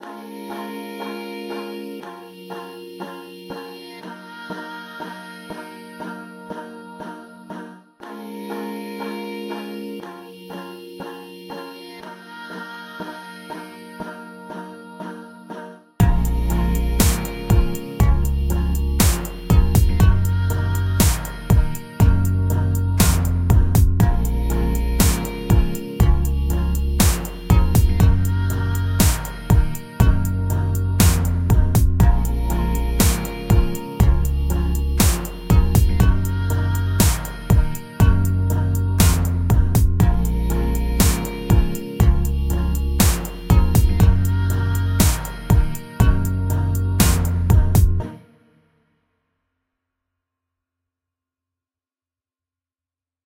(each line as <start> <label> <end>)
0.0 vocal 48.2
13.4 indie synth 48.1
17.0 drum beat 18.3
19.0 drum beat 20.3
21.0 drum beat 22.3
23.0 drum beat 24.3
25.0 drum beat 26.3
27.0 drum beat 28.3
29.0 drum beat 30.3
31.0 drum beat 32.3
33.0 drum beat 34.4
35.0 drum beat 36.3
37.0 drum beat 38.3
39.0 drum beat 40.3
41.0 drum beat 42.3
43.0 drum beat 44.3
45.0 drum beat 46.3
47.0 drum beat 47.9